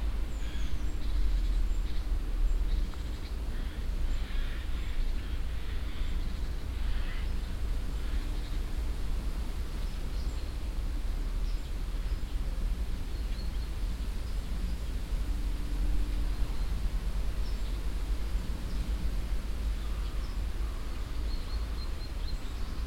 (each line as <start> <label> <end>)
0.0 wind in the bushes 22.8
3.5 crows that fly by 6.1